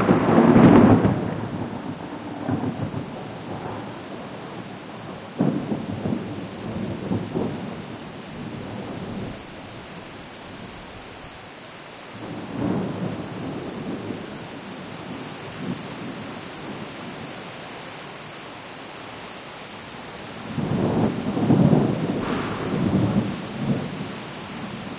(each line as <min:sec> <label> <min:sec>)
0:00.0 Rain 0:24.9
0:20.5 Thunders 0:24.9